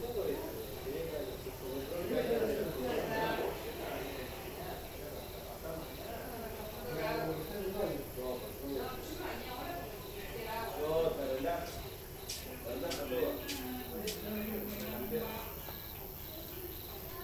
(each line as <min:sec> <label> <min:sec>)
0:00.0 Friends are preparing dinner 0:17.2
0:00.0 crickets 0:17.2